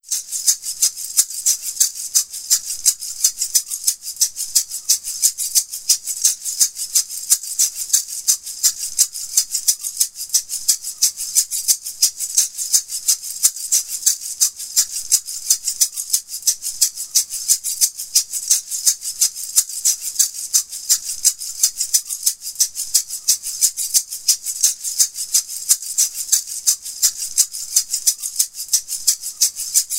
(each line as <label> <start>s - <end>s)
latin maraca rhythm 0.0s - 29.9s